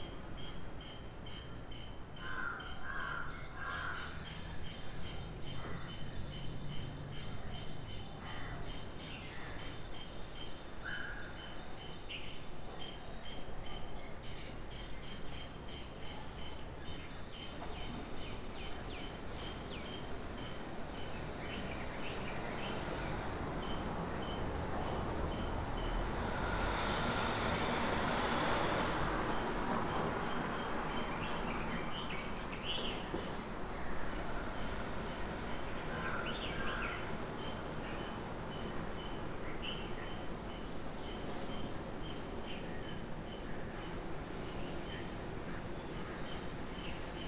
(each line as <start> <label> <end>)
0.0 various other birds 47.2
2.2 crows 4.4